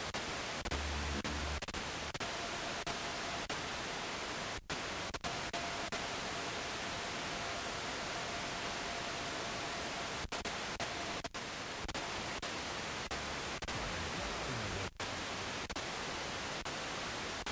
Searching radio stations 0:00.6 - 0:02.0
Searching radio stations 0:13.1 - 0:15.4

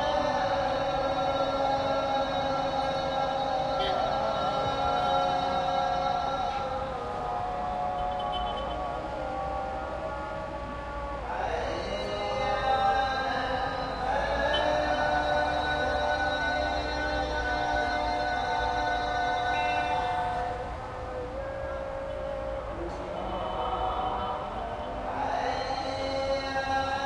Muezzin calls from mosques all over 0:00.0 - 0:27.0

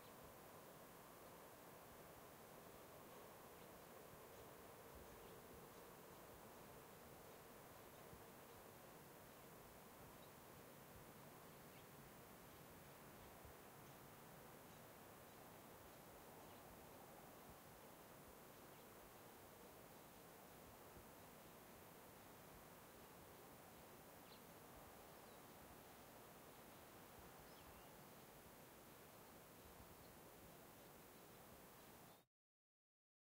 birds 0:03.1 - 0:10.5
birds 0:11.4 - 0:20.3
birds 0:22.9 - 0:32.2

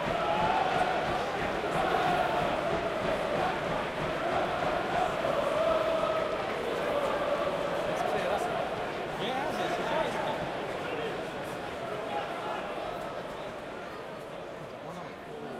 Football Crowd - Chanting 0:00.0 - 0:15.5

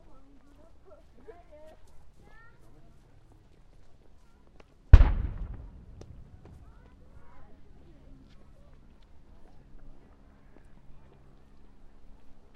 Cannon shots 0:05.0 - 0:06.9

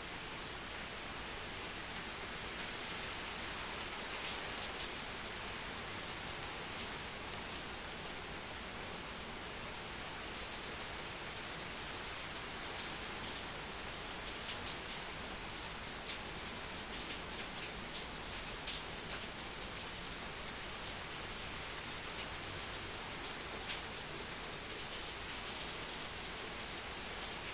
Slight to heavy rainfall on my backyard deck 0:00.0 - 0:27.5

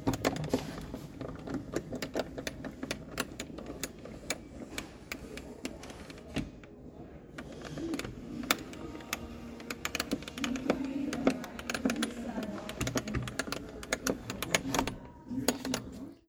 window with compliant handle cranking open and closed 0:07.4 - 0:16.0

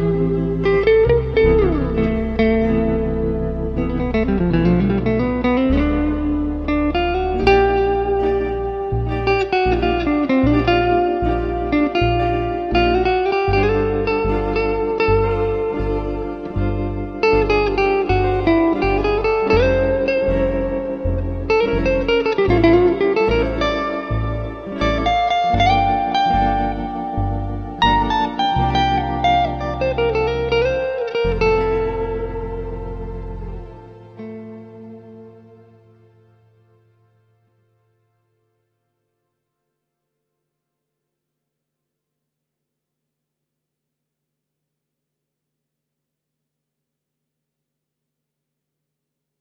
electric guitar 0:00.0 - 0:36.8

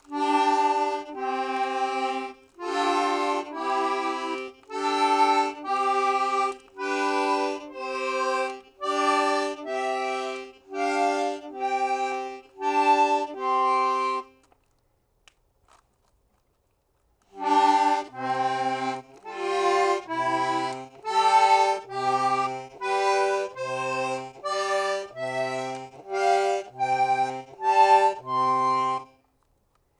Accordion, Scales 0:00.0 - 0:14.7
Accordion, Scales 0:17.3 - 0:29.4

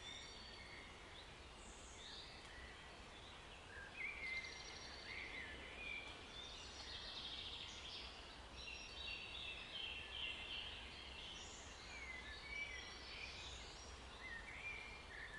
birds 0:00.0 - 0:15.3

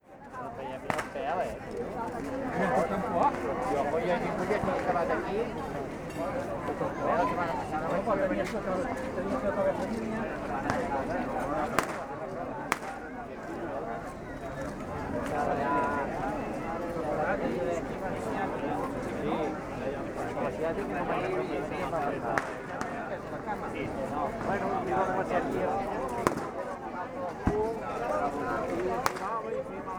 firecrackers exploding 0:26.3 - 0:26.6

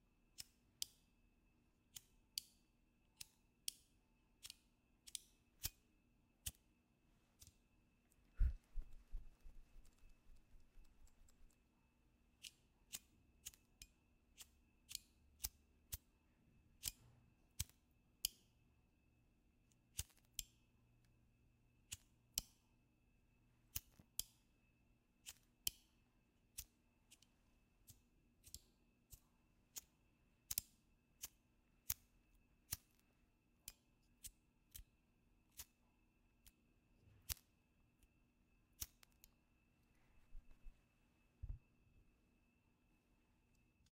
flick of the lighter 0:17.6 - 0:18.5
crackle of the sparks 0:19.9 - 0:20.6
flick of the lighter 0:19.9 - 0:20.6
flick of the lighter 0:30.5 - 0:32.1
flick of the lighter 0:37.2 - 0:37.5
crackle of the sparks 0:38.8 - 0:39.4

